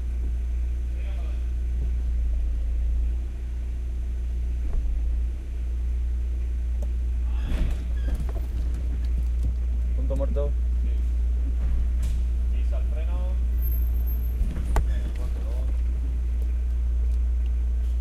0.0s Car engine 18.0s
0.0s brake 18.0s
0.0s truck 18.0s

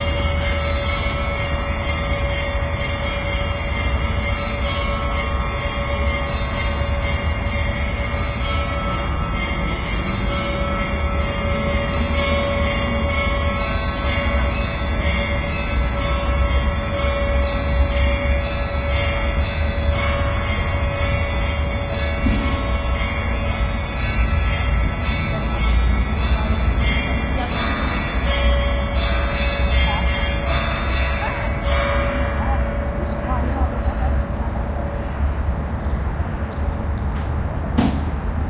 0.0s church bells 36.9s
0.0s traffic 38.4s

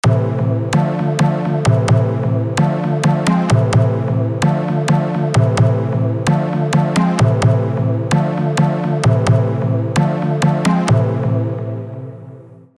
0.0s Kick Drum 11.6s
0.0s Bass 12.7s
0.0s Chord 12.7s

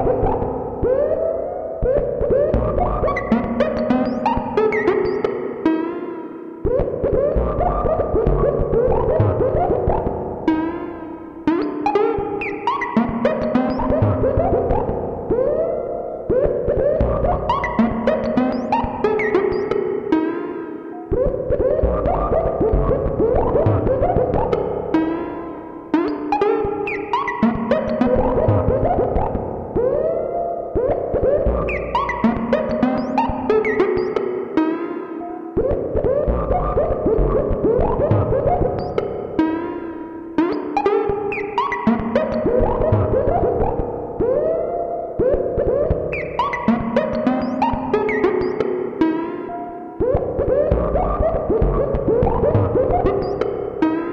0.0s synthesizer 54.1s

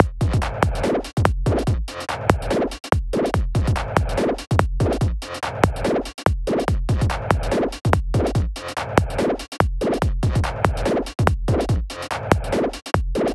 0.0s drums 13.3s

